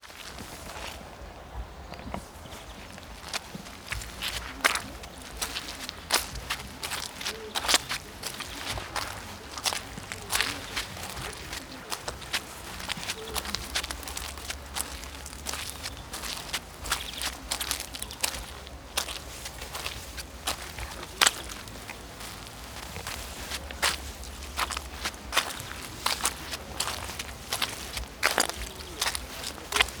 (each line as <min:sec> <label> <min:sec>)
0:00.0 footsteps 0:30.0